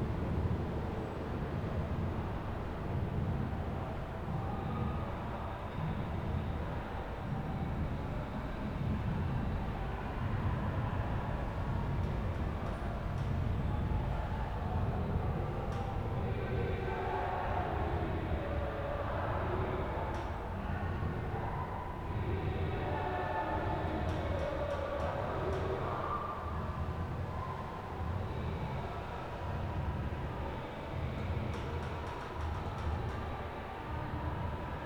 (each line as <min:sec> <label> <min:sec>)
0:00.0 Trains in the tunnels below 0:34.8